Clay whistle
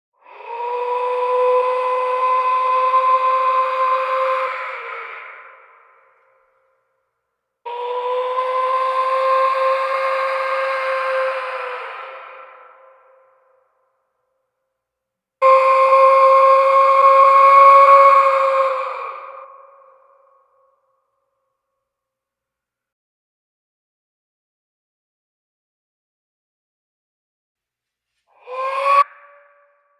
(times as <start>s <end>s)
15.4s 20.2s, 28.3s 29.9s